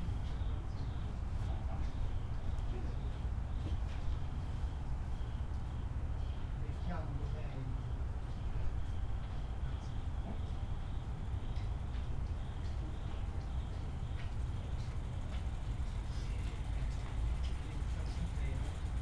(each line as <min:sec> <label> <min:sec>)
0:00.2 night crickets 0:19.0